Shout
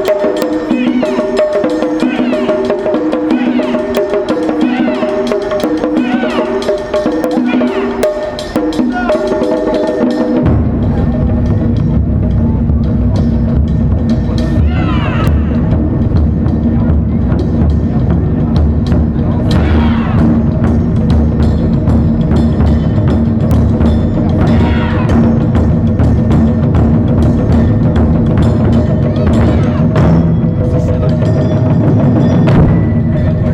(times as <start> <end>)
2.0 2.7, 3.3 4.0, 4.6 5.2, 6.0 6.6, 7.4 8.0, 8.9 9.3, 14.6 15.7, 19.5 20.4, 24.3 25.3, 29.1 30.0